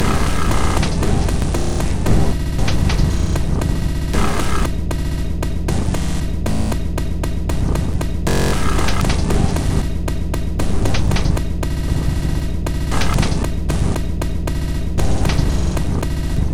0.0s Drum Loop 16.5s

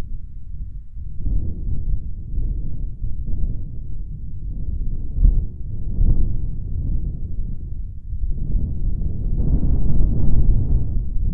0.0s light breeze 11.3s

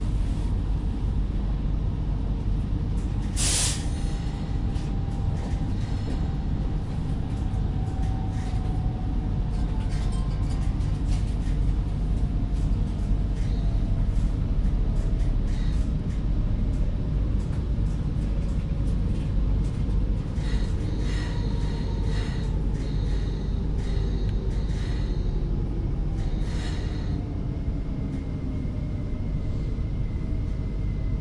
0.0s local train stops 31.2s

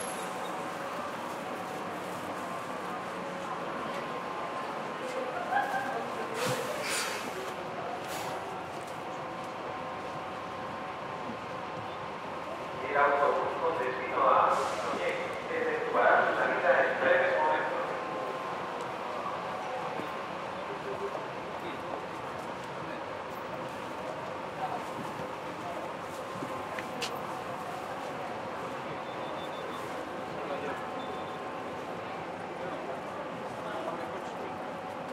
0.0s bus 35.1s

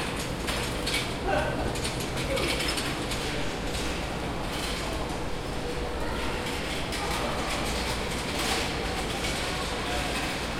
0.0s rolling carts by 10.5s

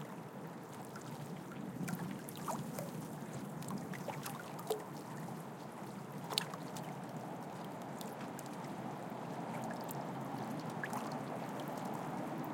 0.0s Light waves hitting the harbour wall 12.5s
0.0s harbour and city noise in the background 12.5s

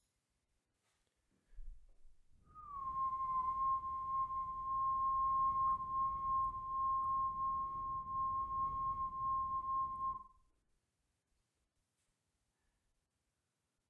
2.4s Whistling of a single note 10.4s

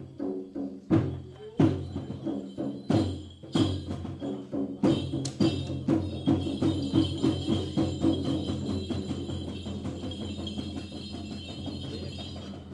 0.0s drums 12.7s
0.8s voices 12.7s

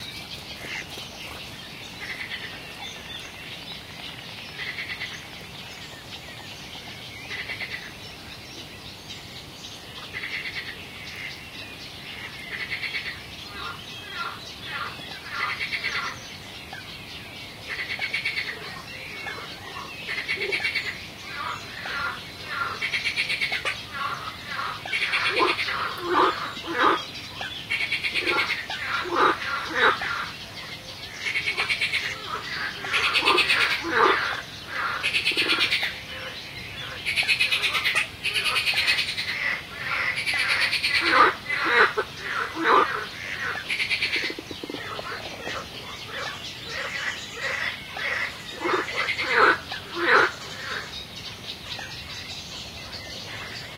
0.0s Frogs croaking 53.7s
0.0s birds 53.7s
4.5s toads 5.3s
10.1s toads 11.4s
12.1s toads 16.2s
17.6s toads 51.0s

